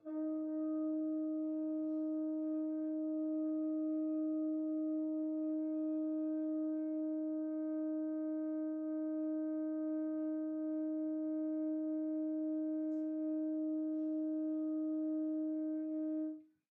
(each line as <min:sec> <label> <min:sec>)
0:00.0 F Horn 0:16.5